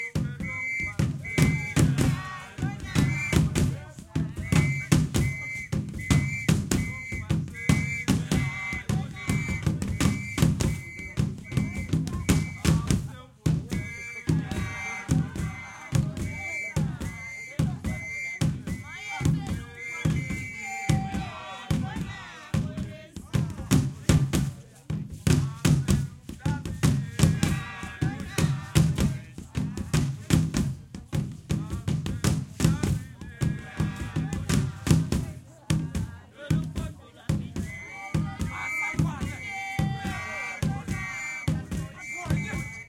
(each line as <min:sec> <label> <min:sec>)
0:00.0 Annoying whistle 0:03.7
0:00.0 drums 0:42.8
0:00.0 singing 0:42.8
0:04.3 Annoying whistle 0:12.9
0:13.7 Annoying whistle 0:21.6
0:37.6 Annoying whistle 0:42.8